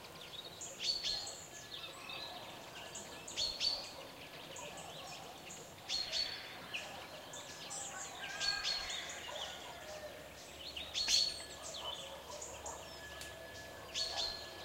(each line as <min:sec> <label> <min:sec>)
0:00.0 bird tweets 0:14.6
0:03.7 dog barkings 0:05.4
0:09.2 dog barkings 0:10.0
0:11.5 dog barkings 0:14.6